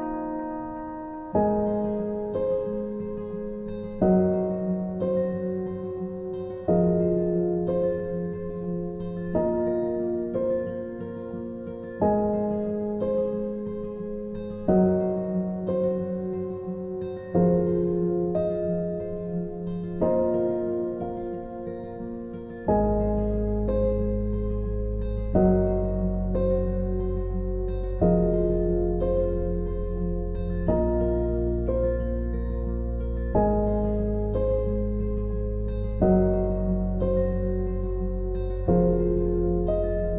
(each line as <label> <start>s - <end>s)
Guitar 0.0s - 40.1s
Piano 0.0s - 40.1s
Bass 22.7s - 40.1s